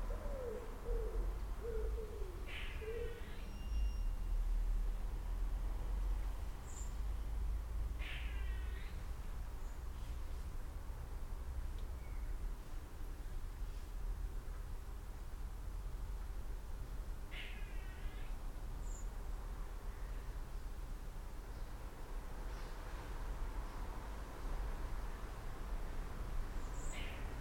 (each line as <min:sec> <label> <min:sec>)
0:00.0 Garden Birds 0:03.9
0:06.4 Garden Birds 0:10.6
0:16.2 Garden Birds 0:27.4